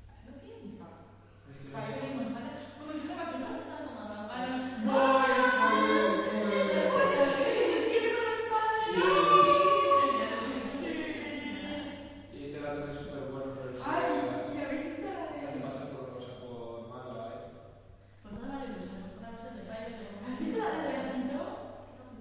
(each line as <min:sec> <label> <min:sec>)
0:04.3 Guys speaking and laughing 0:17.4